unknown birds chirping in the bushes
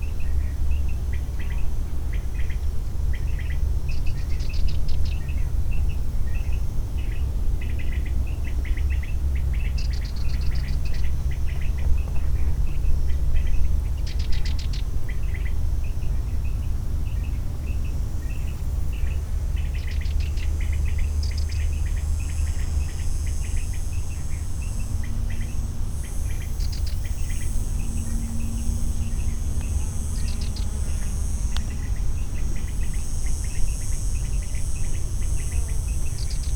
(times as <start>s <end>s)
19.6s 36.5s